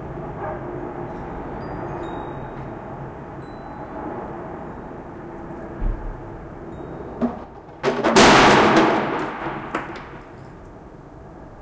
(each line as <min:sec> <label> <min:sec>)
0:07.1 throwing away by the window old furniture 0:10.6